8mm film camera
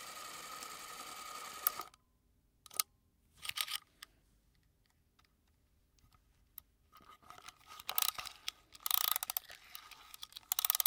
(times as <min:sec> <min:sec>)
0:00.0 0:02.0, 0:07.8 0:10.8